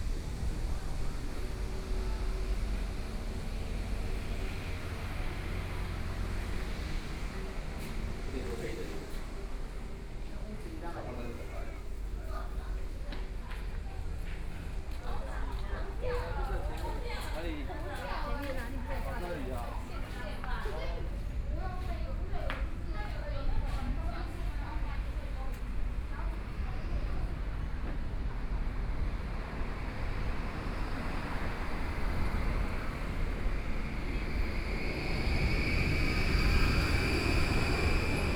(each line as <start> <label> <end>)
0.0 Traffic Sound 17.2
0.0 Many tourists 38.3
0.0 walking in the Street 38.3
17.9 Traffic Sound 38.3